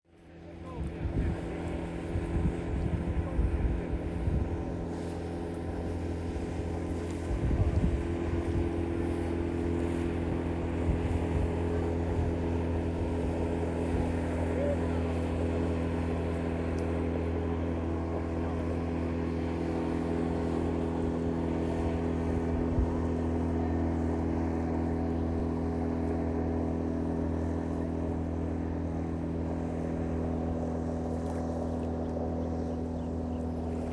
Small Boat Engine 0.0 - 33.9

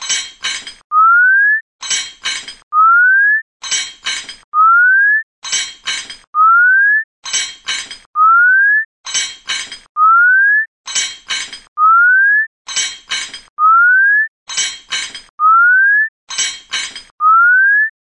clang 0.0 - 0.8
clang 1.8 - 2.6
clang 3.6 - 4.4
clang 5.4 - 6.3
clang 7.2 - 8.1
clang 9.1 - 9.9
clang 10.9 - 11.7
clang 12.7 - 13.5
clang 14.5 - 15.3
clang 16.3 - 17.1

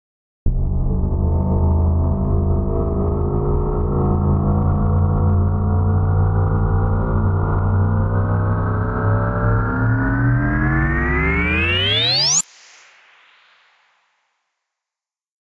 warpdrive-medium 0.5 - 12.1

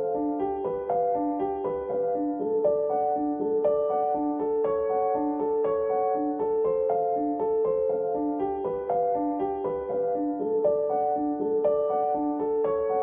Piano 0.0 - 13.0

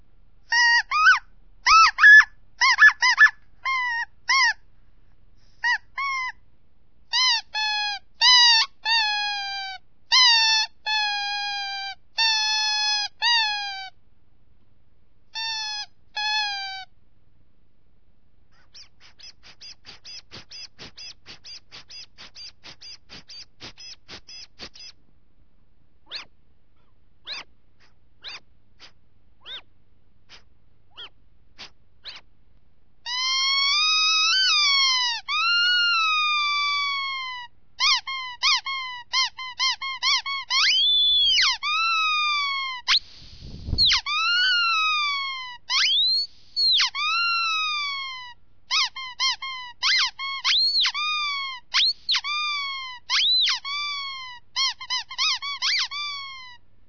rubber animals with whistle and little pump 18.6 - 25.0
rubber animals with whistle and little pump 26.1 - 26.3
rubber animals with whistle and little pump 27.2 - 29.7
rubber animals with whistle and little pump 30.3 - 32.3
rubber animals with whistle and little pump 33.1 - 56.5

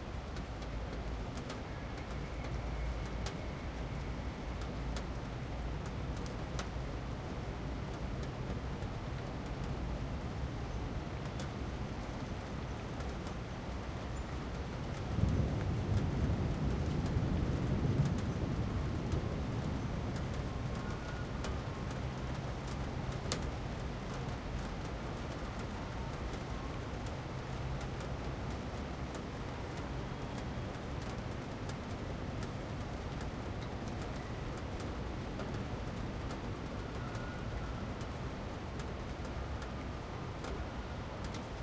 Heavy rain 0.0 - 41.6
thunder 15.1 - 20.9

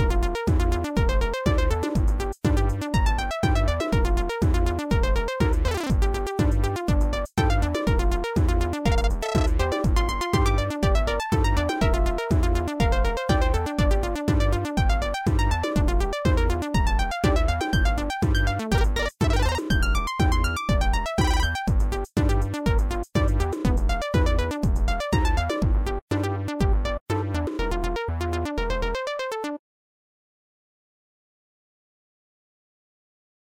Dance Beat 0.5 - 26.0

